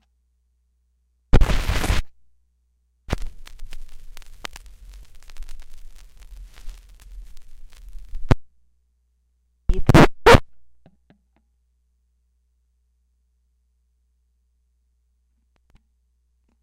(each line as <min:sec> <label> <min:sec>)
0:01.4 roecrd scratch 0:02.1
0:03.1 roecrd scratch 0:08.4